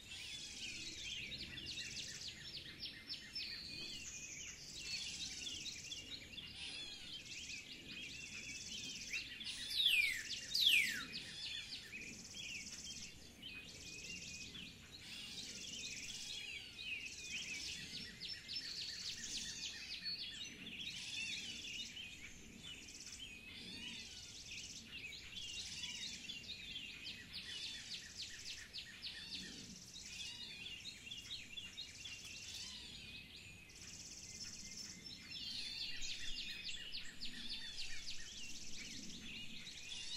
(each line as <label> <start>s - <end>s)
number of birds making noise 0.0s - 40.1s
Very prominent bird call 9.5s - 11.8s